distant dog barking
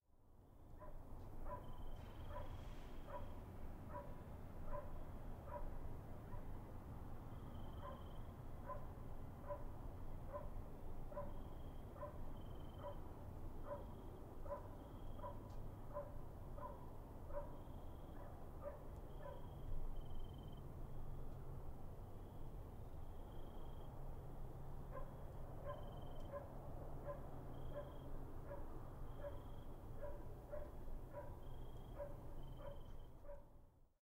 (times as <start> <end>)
0.8 6.5, 7.8 13.0, 13.6 19.6, 24.9 33.5